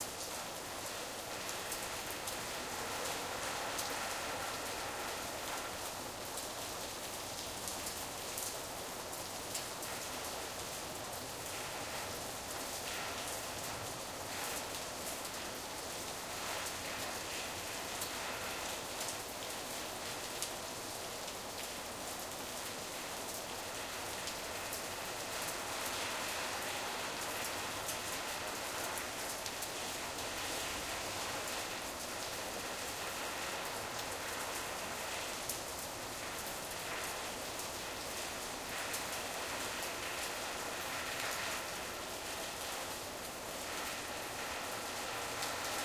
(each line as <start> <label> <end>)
0.0 Rain Ambience hitting a Tin Roof top 45.8